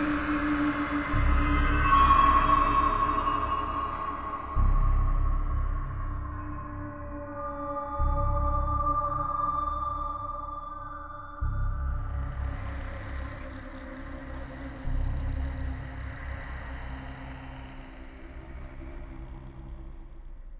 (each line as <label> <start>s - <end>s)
music 0.0s - 20.5s